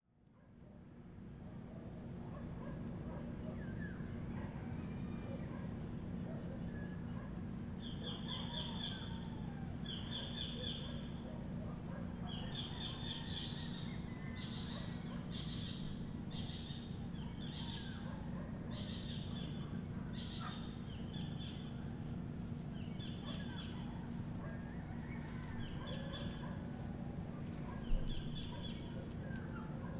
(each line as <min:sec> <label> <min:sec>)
0:00.1 crickets 0:29.9
0:00.3 dogs barking in the distance 0:29.9
0:00.8 cicadas start to make their noise 0:29.9
0:01.6 dawn chorus from local birds 0:29.9
0:11.9 roosters 0:15.3
0:23.2 roosters 0:29.9